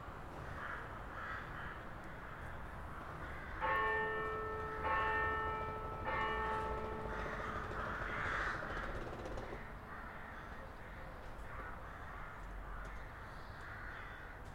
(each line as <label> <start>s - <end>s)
Crows 0.4s - 3.7s
church bells 3.5s - 8.8s
Crows 6.6s - 14.5s